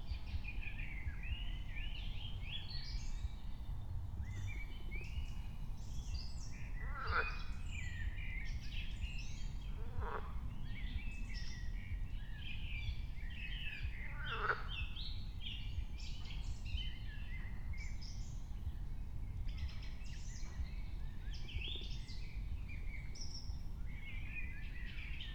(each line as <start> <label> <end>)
6.8 frogs 7.5
9.8 frogs 10.5
14.0 frogs 14.8